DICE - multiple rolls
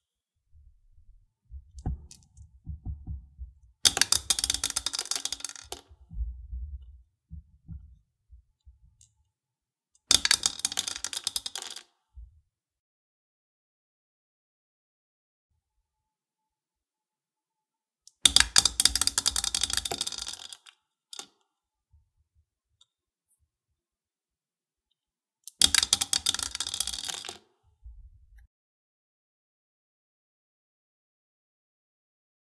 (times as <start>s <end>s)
1.8s 6.2s, 10.1s 12.0s, 18.3s 21.4s, 25.5s 27.5s